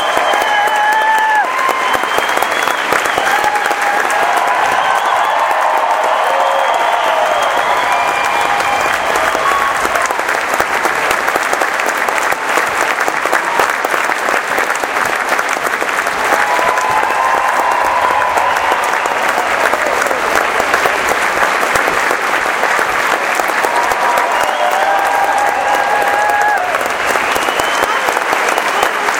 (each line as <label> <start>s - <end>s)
whooping 0.0s - 10.4s
Applause 0.0s - 29.1s
cheering 0.0s - 29.1s
whooping 16.2s - 20.9s
whooping 23.3s - 29.0s